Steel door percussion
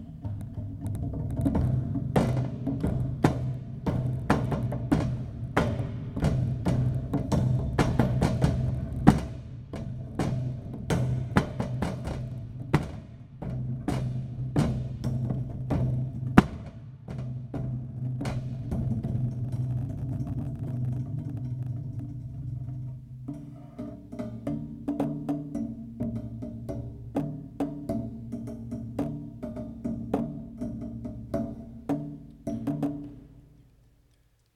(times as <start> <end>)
0.0 26.9